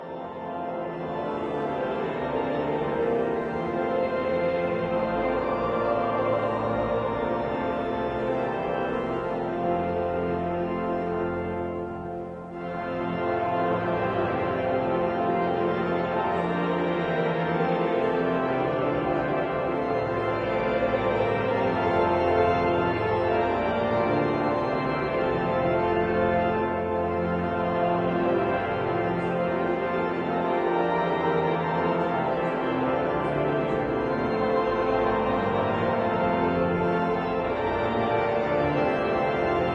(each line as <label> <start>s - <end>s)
choir 0.0s - 9.6s
congregation 0.0s - 39.7s
organ 0.0s - 39.7s
sermon 0.0s - 39.7s